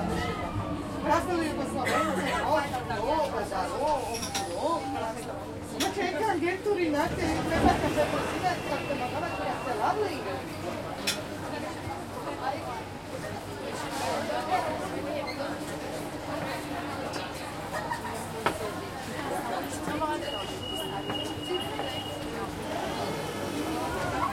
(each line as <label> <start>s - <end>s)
people talking in italian 0.2s - 24.3s